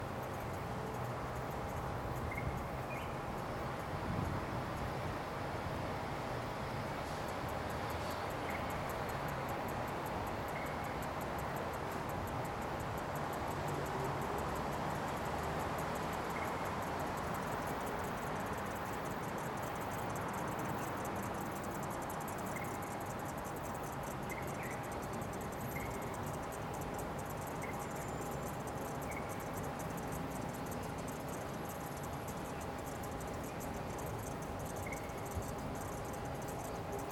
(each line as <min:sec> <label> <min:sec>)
0:00.0 Cicadas 0:37.1
0:00.0 traffic 0:37.1
0:03.4 wind noise 0:05.8